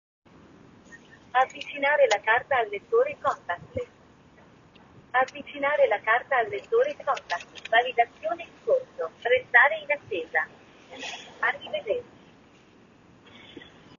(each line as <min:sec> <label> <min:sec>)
0:01.2 automated female voice message in Italian 0:03.9
0:05.1 automated female voice message in Italian 0:12.1